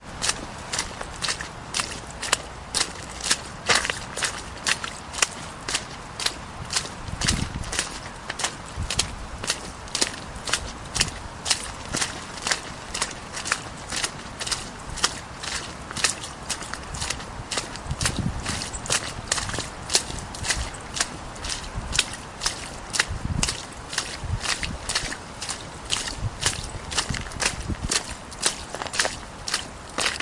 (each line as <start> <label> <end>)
0.0 footsteps splashing in small puddles and some mud 30.2